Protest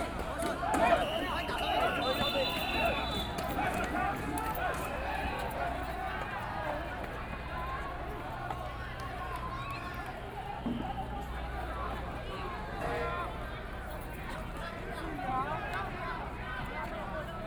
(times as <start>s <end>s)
0.0s 12.1s